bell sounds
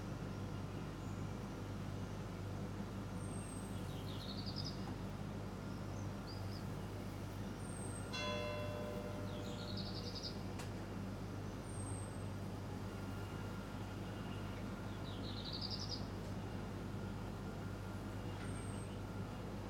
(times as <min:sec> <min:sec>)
0:08.2 0:09.8